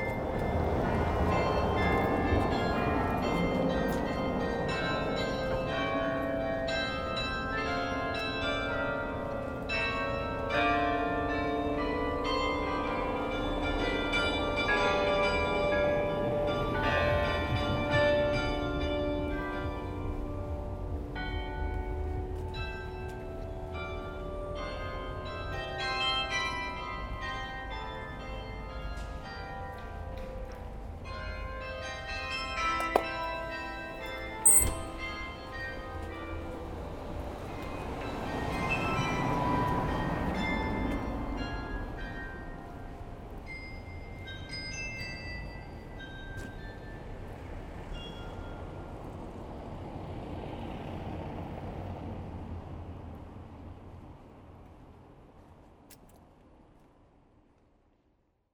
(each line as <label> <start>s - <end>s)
carillon 34.4s - 35.6s